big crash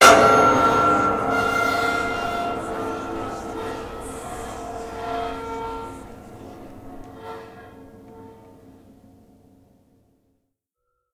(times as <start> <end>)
0.0 8.9